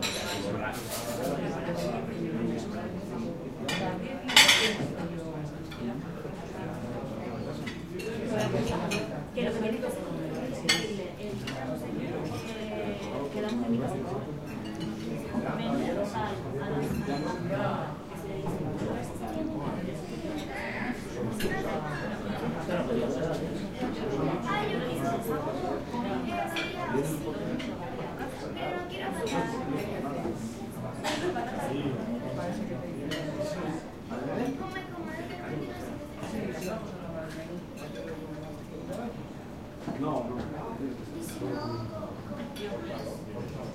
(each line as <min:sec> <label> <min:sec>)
0:00.0 crowd 0:43.7